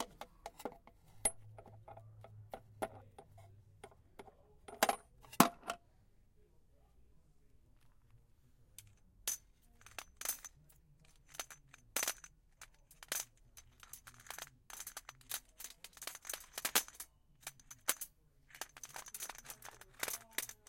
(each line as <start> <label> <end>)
12.9 dropping heavy metal pieces in a plastic box 20.6